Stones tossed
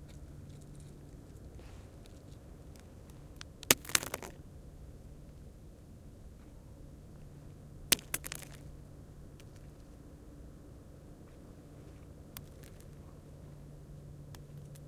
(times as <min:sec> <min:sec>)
0:02.0 0:04.4, 0:07.9 0:08.7, 0:12.4 0:13.0